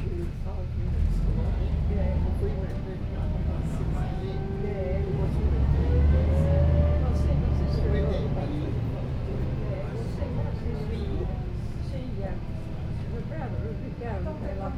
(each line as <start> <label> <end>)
0.0 433 bus 14.7